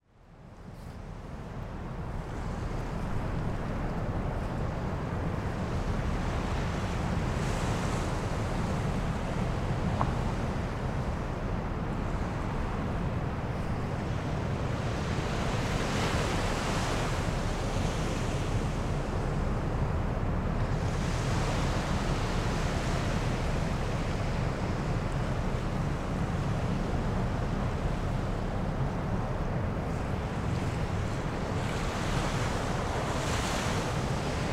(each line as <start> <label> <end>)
0.0 heavy rumble from the sea & wind 34.5
0.2 soft waves 34.5